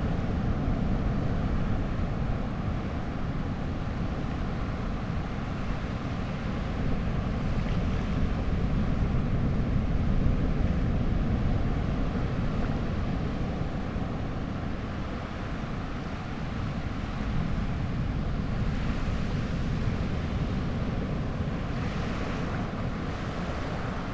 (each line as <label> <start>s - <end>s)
much weaker surf 0.0s - 24.1s